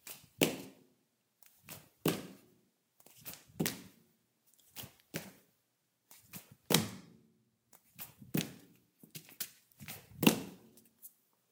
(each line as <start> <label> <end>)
0.0 Barefoot jumping on tile 0.8
1.6 Barefoot jumping on tile 2.4
3.2 Barefoot jumping on tile 4.0
8.0 Barefoot jumping on tile 10.8